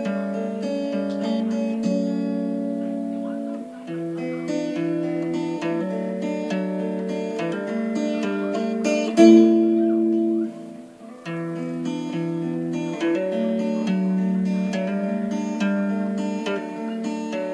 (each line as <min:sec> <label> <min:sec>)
0:00.0 guitar experiments 0:17.5